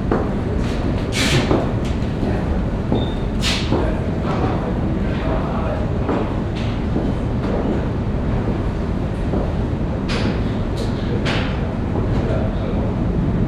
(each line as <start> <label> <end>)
0.0 permanent sound of a ventilation 13.4
0.0 workers who prepare the technique 7.9